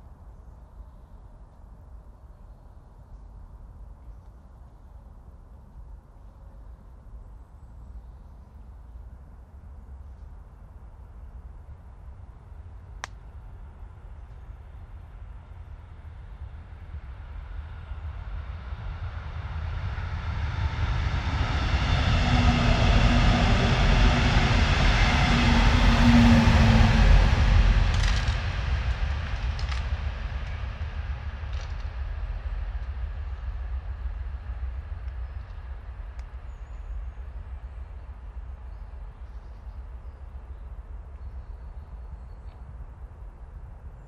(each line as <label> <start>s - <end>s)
powerful train moving fast 16.5s - 36.4s